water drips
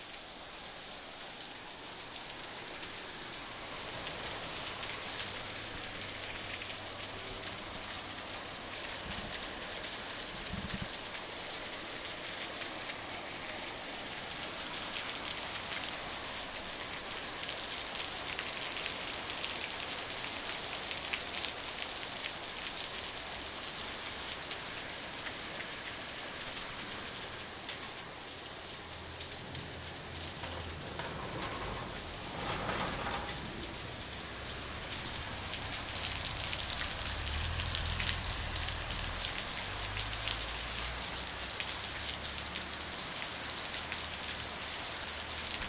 34.0 45.6

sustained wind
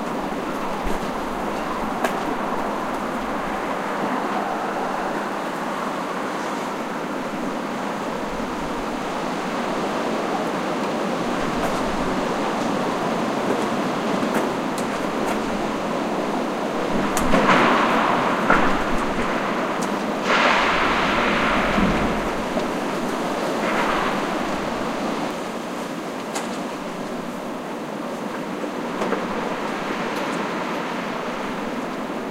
0.0 25.6

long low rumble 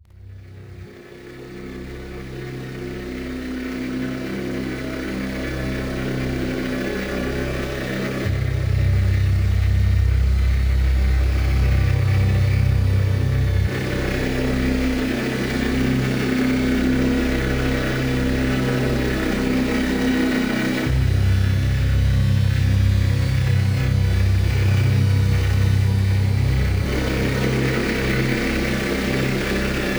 20.9 29.9

